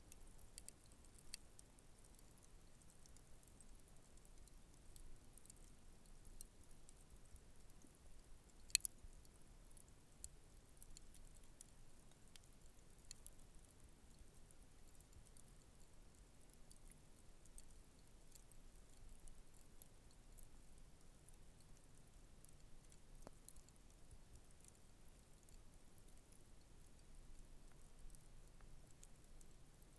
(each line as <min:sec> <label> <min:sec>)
0:00.0 wind 0:29.9